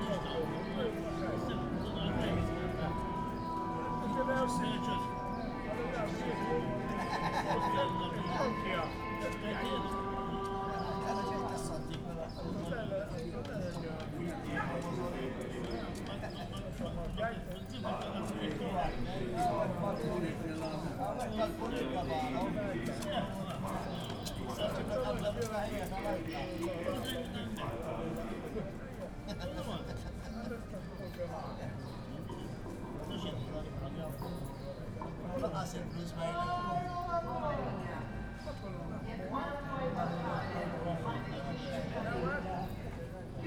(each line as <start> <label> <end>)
0.0 procession 12.0
0.0 old men sitting on benches in front of Zejtun Band Club talking 43.4